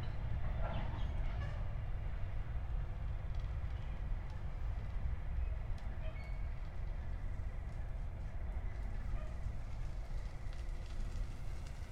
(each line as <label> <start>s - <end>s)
long freight train 0.0s - 11.9s